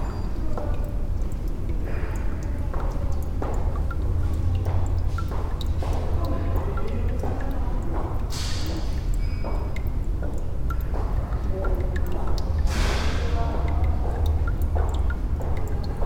dripping tap 0.0 - 16.0

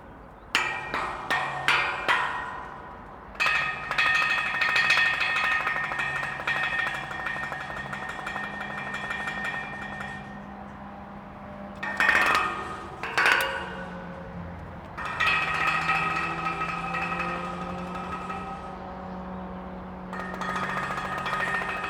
Playing the metal railings mid-bridge with two found wood sticks 0.0 - 21.8
traffic from the autobahn 0.0 - 21.8

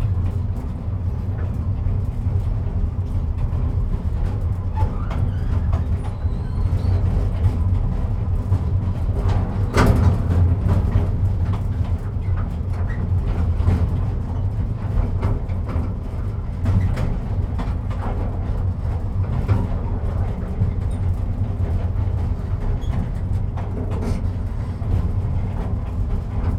tourist train stops at the crossroads 0.0 - 26.5

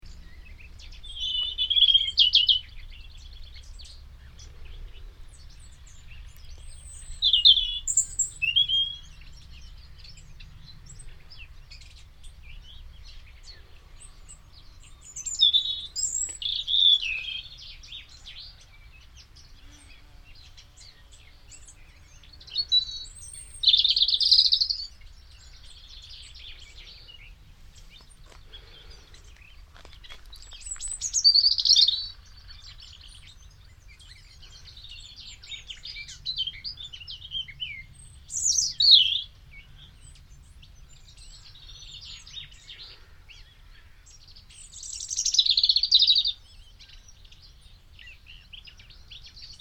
spring birds 0.0 - 49.6

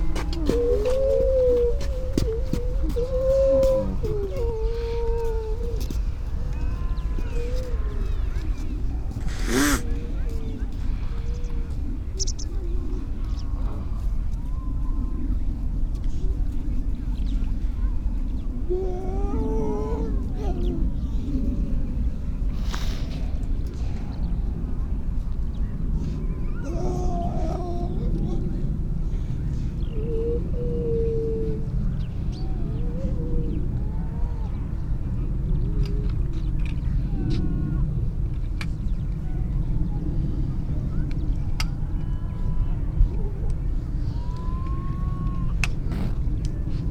grey seals 0.0 - 16.8
starling 8.7 - 10.2
grey seals 17.4 - 46.9

